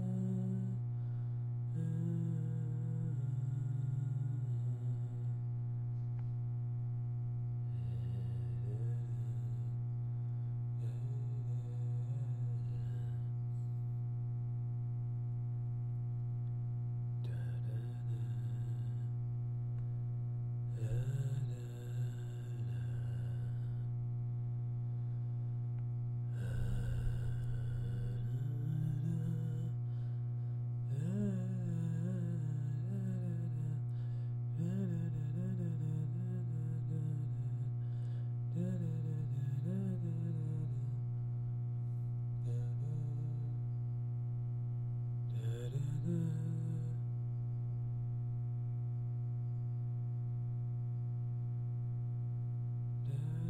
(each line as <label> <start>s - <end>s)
man singing 20.8s - 23.2s
man singing 26.4s - 29.8s
man singing 30.9s - 33.8s
man singing 34.6s - 37.4s
man singing 45.4s - 47.0s